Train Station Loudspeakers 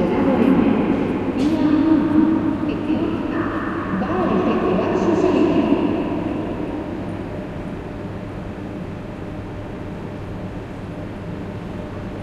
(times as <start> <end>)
0.0 8.2